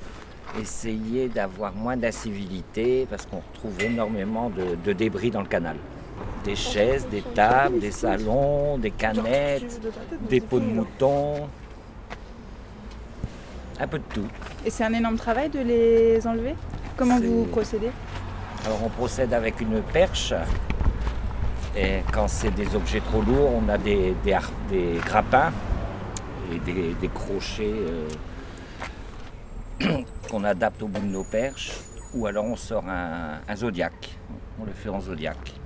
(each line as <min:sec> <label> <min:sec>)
0:00.6 Interview 0:11.6
0:13.8 Interview 0:20.6